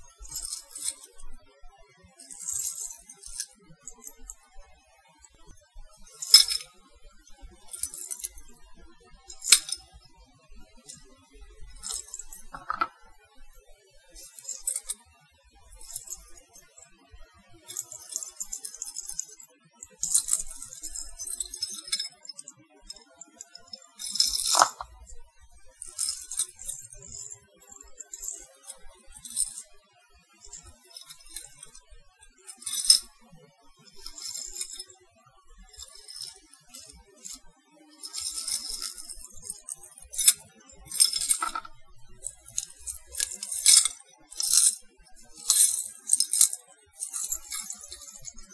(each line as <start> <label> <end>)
0.0 chains 1.3
2.2 chains 4.5
6.0 chains 6.7
7.6 chains 8.4
9.3 chains 9.9
11.6 chains 13.1
14.2 chains 15.0
15.8 chains 16.8
17.6 chains 29.8
30.4 chains 33.1
33.8 chains 34.8
35.6 chains 48.5